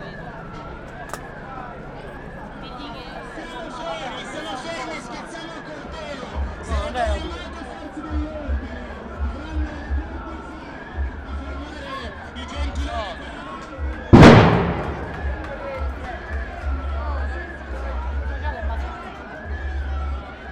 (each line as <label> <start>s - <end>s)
explosions 14.2s - 15.8s